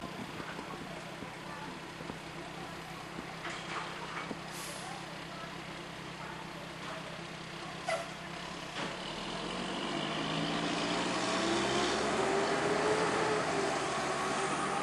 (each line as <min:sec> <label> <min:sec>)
0:00.0 faint conversation in the background 0:09.1